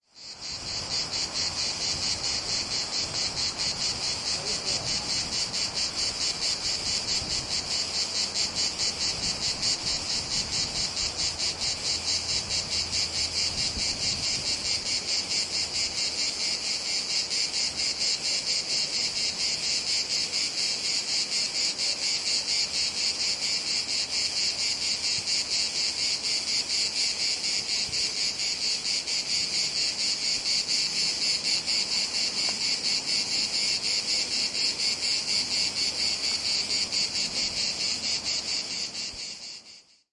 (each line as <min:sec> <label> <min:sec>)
0:00.0 cicadas 0:40.1
0:00.0 crickets 0:40.1